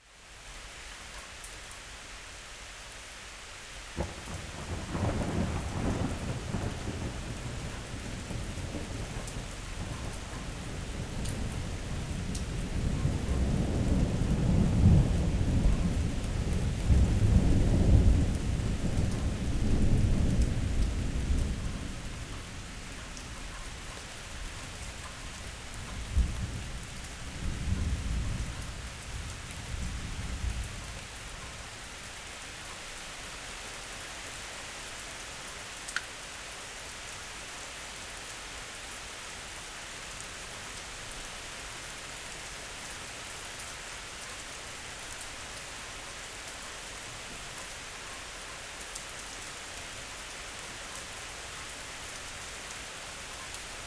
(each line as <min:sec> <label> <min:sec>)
0:00.0 rain 0:53.8
0:04.0 thunder 0:22.0